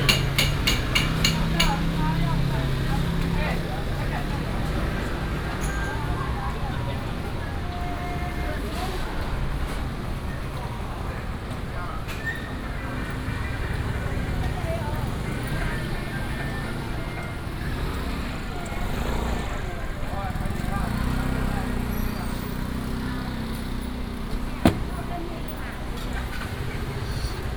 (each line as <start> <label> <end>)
0.0 Traffic sound 27.5
19.5 Walking on the road 27.5